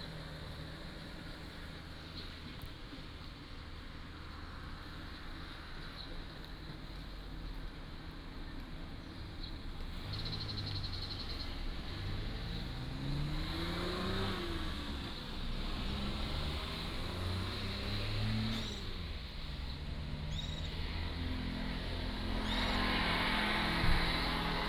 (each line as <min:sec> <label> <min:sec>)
0:00.0 Traffic Sound 0:24.6
0:18.4 Birds singing 0:20.9